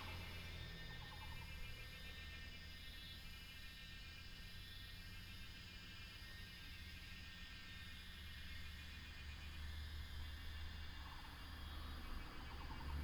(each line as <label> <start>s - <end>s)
traffic sound 0.0s - 2.0s